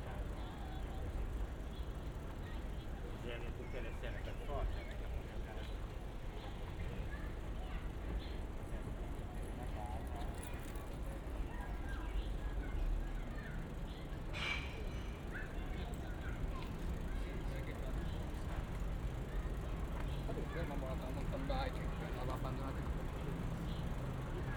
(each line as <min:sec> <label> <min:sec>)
0:13.2 Cycling on the embankment of the Po 0:24.5